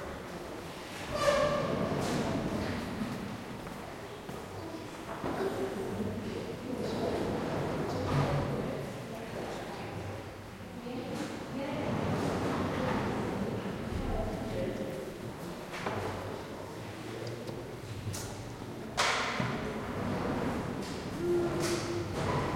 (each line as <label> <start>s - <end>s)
People 20.8s - 22.5s